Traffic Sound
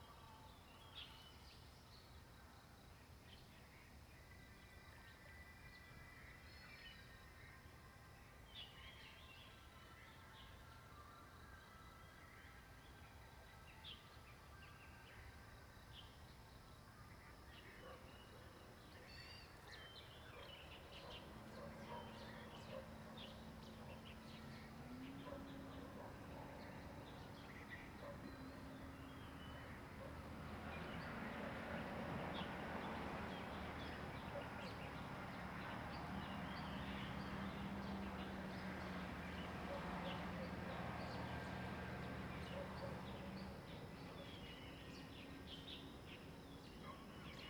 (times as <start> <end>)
20.8 46.4